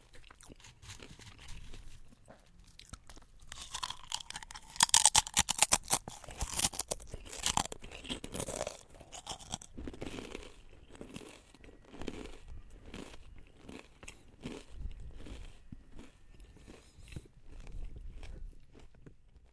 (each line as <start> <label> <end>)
0.0 ASMR crunchy sound 19.5